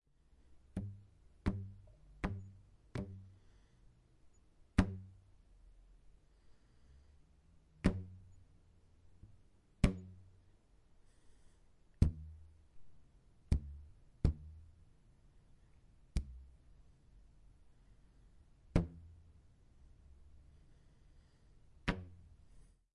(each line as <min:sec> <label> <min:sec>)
0:00.6 rubber band being struck with my thumb 0:03.6
0:04.7 rubber band being struck with my thumb 0:05.4
0:07.8 rubber band being struck with my thumb 0:08.5
0:09.2 rubber band being struck with my thumb 0:10.4
0:11.9 rubber band being struck with my thumb 0:14.8
0:16.1 rubber band being struck with my thumb 0:16.6
0:18.7 rubber band being struck with my thumb 0:19.4
0:21.8 rubber band being struck with my thumb 0:22.6